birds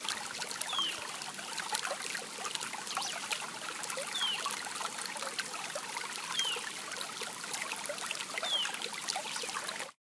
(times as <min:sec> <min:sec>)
0:06.3 0:06.7, 0:08.4 0:09.6